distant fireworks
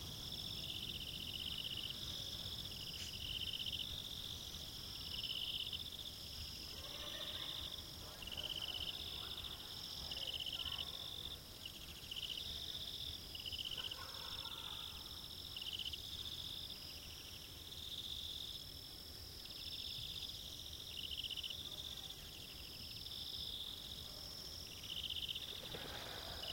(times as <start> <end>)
25.4 26.5